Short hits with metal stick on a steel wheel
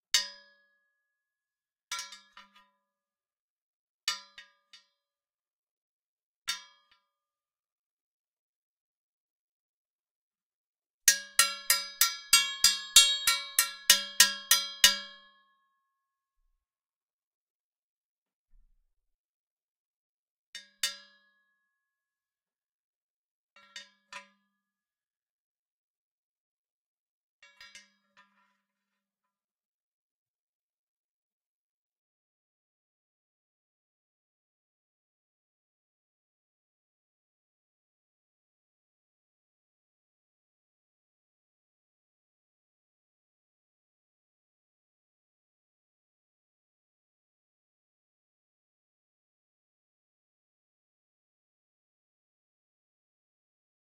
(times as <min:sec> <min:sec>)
0:11.1 0:15.2